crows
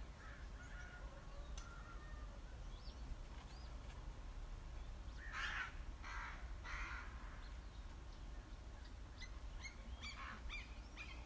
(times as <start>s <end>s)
0.1s 2.3s, 5.2s 7.5s, 10.1s 10.6s